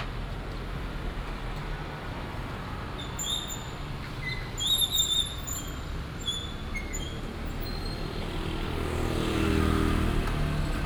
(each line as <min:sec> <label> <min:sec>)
0:00.0 Traffic sound 0:10.8